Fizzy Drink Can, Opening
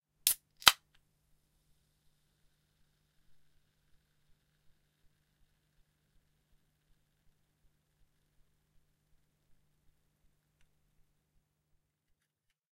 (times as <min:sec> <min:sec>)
0:00.3 0:00.8